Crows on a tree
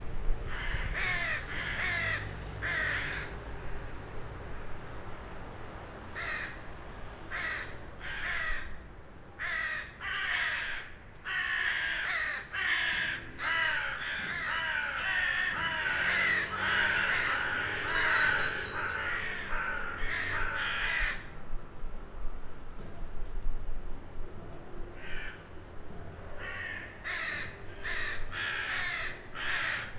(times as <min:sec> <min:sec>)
0:00.5 0:03.7, 0:06.1 0:21.4, 0:24.9 0:29.9